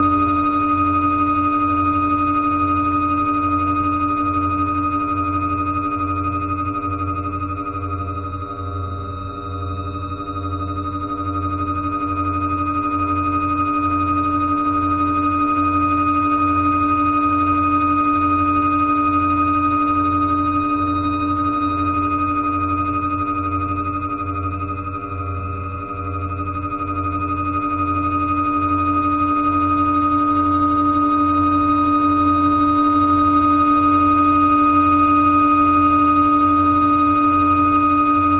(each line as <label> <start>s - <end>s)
drone 17.4s - 38.3s